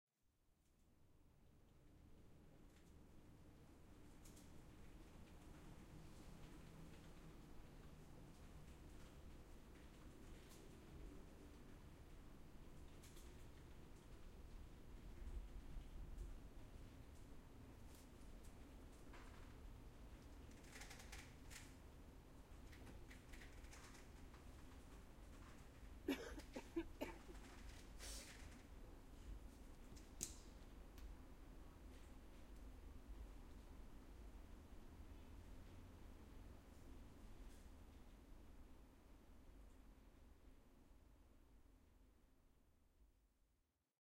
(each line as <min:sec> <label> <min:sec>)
0:26.1 Cough 0:27.4